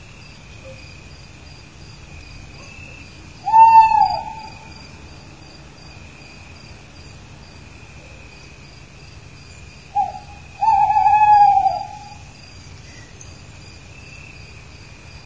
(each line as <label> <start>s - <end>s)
owl hooting 3.4s - 4.8s
owl hooting 9.9s - 12.4s